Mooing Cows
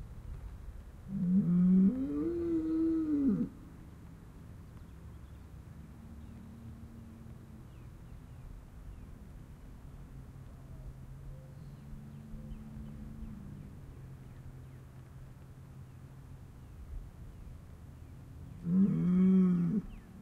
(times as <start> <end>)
1.1 3.5, 18.6 19.9